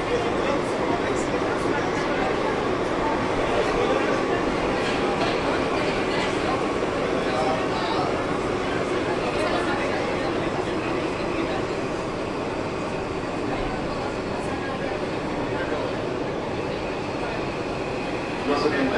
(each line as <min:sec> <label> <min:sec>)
0:00.0 subway 0:18.9